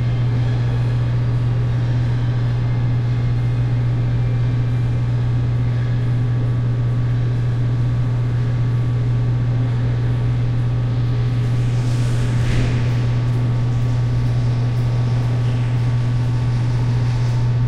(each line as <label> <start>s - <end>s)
loud hum 0.0s - 17.6s